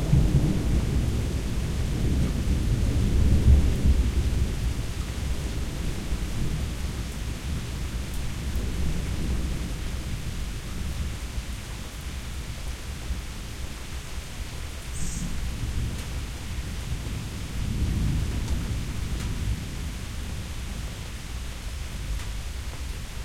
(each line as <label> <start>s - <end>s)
Thunder 0.0s - 6.8s
Rain 0.0s - 23.2s
Thunder 16.9s - 20.5s